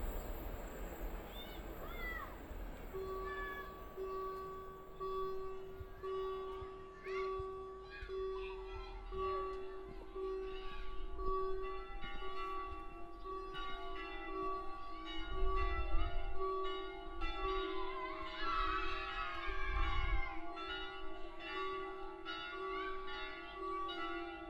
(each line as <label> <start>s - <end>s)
gates close with a warning signal 0.0s - 5.6s
train passing by 0.0s - 7.0s
church bells 0.0s - 8.5s
church bells 9.1s - 19.2s
church bells 20.4s - 24.4s